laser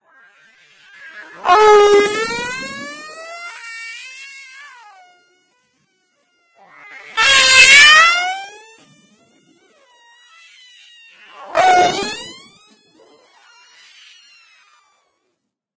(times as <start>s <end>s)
0.4s 4.0s, 6.6s 15.2s